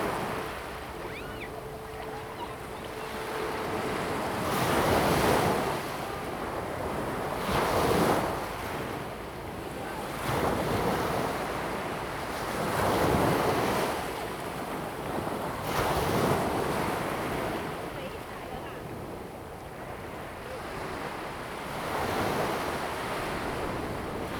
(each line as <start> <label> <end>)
0.0 waves and tides 24.3
0.0 Yacht whistle sound 6.0